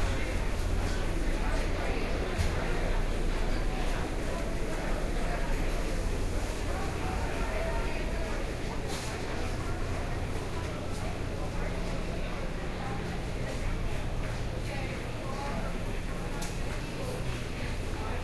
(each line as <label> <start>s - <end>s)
crowd 0.0s - 18.2s